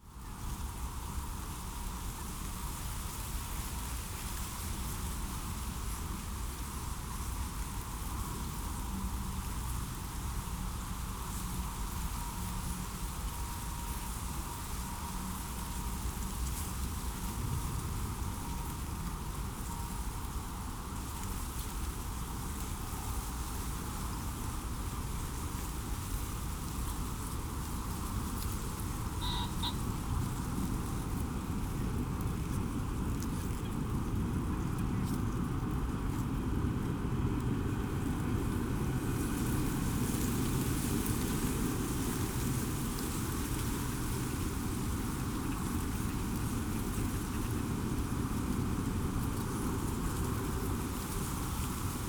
wind in reed 0:26.4 - 0:33.6
distant birds 0:29.1 - 0:30.1

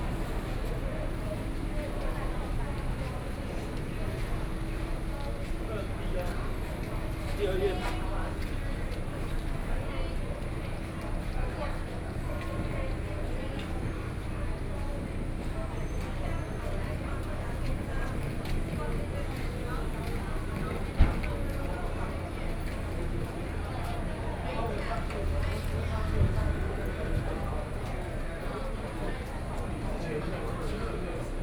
Tourists 0:00.0 - 0:31.4

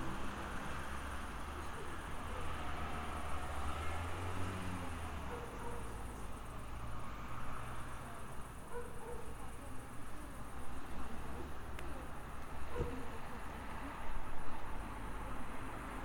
traffic 0:00.0 - 0:16.0
dogs barking 0:05.2 - 0:06.0
dogs barking 0:08.7 - 0:09.4

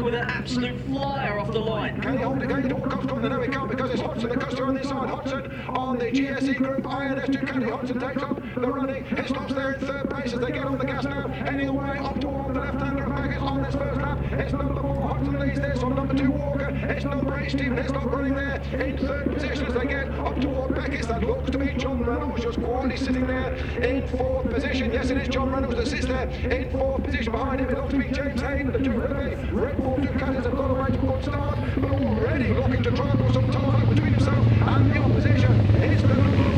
Superbikes 0:00.0 - 0:36.5

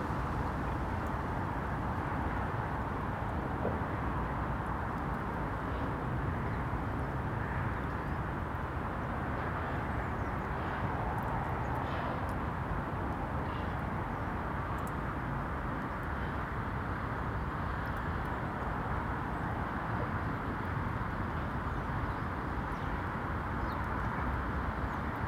water dripping wherever I look 0:14.6 - 0:16.2

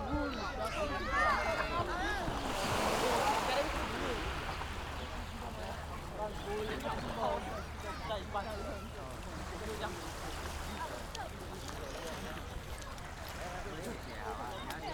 waves 0:00.0 - 0:14.9

